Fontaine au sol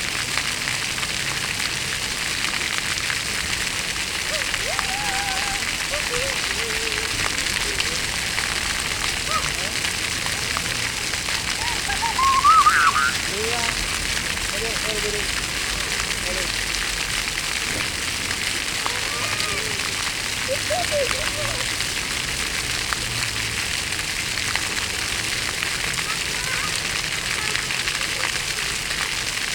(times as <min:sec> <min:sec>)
0:04.1 0:15.0